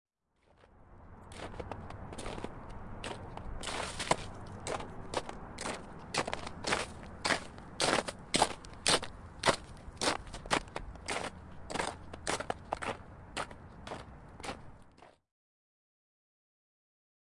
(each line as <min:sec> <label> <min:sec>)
0:01.3 High Heeled shoe footsteps on heavy packed snow 0:15.2